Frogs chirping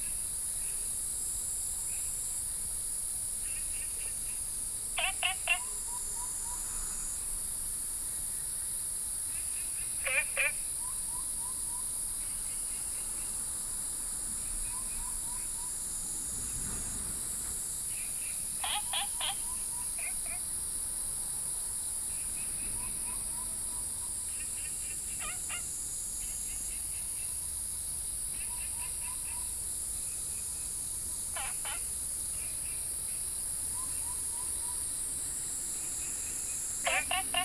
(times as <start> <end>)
3.4 6.7, 9.2 13.4, 17.4 21.1, 22.0 37.4